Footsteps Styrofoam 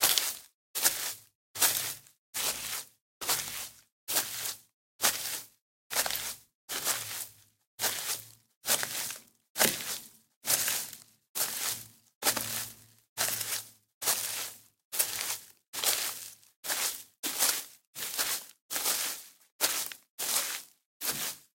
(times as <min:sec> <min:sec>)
0:07.8 0:21.5